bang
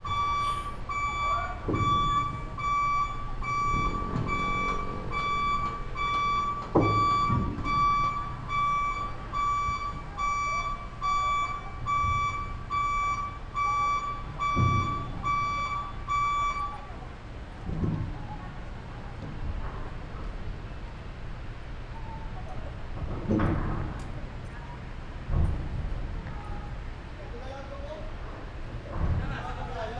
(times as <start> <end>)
0.3 9.0, 14.0 20.9